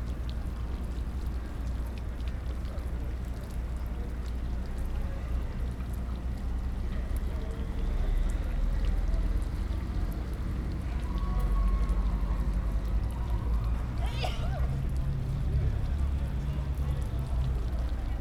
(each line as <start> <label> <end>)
0.1 fountain 18.2
10.8 People talking 18.2